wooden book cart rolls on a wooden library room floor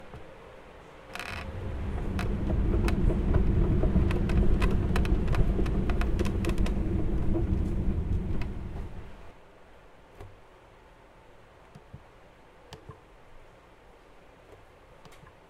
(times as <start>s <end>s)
1.2s 9.3s